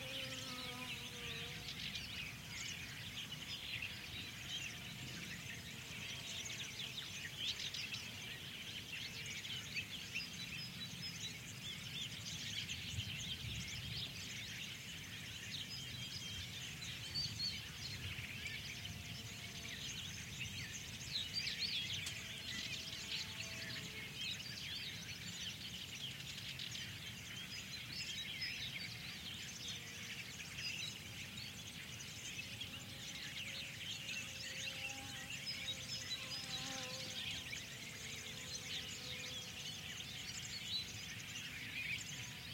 0.0s insect buzz 3.4s
0.0s bird tweets 42.5s
32.4s insect buzz 42.4s

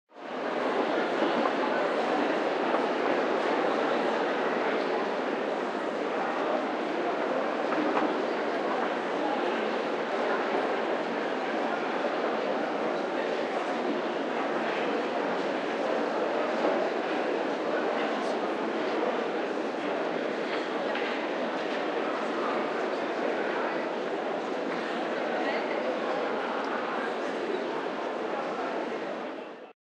0.2s Huge crowd leaving a concert hall 29.7s

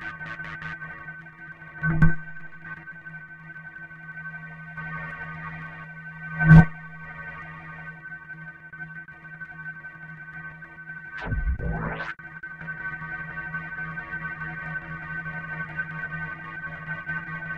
0.0s Glitched Oscillations 5 - stutter 0.8s
11.2s Glitched Oscillations 5 - stutter 12.2s

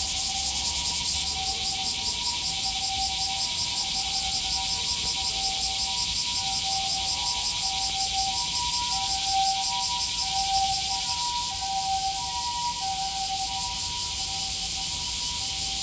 0.0s Cicadas 15.8s
9.1s ambulance sound 15.8s

